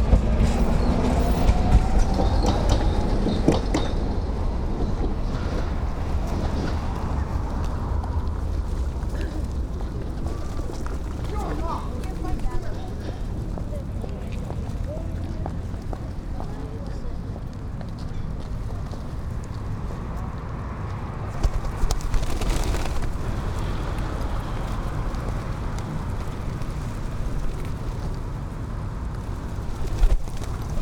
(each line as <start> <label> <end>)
0.0 locals walking 30.8
0.0 trams passing by 30.8
8.5 pigeons 13.2
21.3 pigeons 28.2
29.2 pigeons 30.8